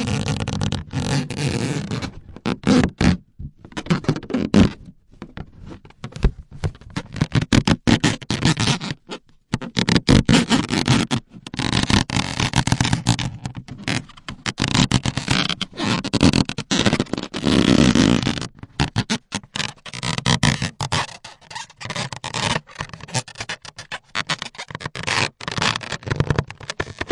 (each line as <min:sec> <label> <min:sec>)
0:00.0 Balloon rubbed 0:04.9
0:05.6 Balloon rubbed 0:27.1